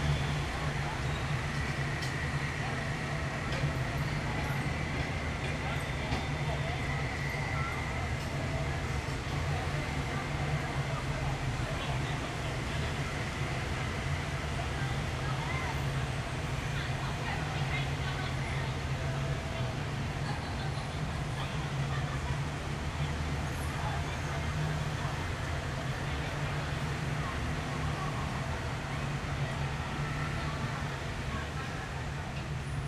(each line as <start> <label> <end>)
0.0 teenagers can just be heard talking 32.8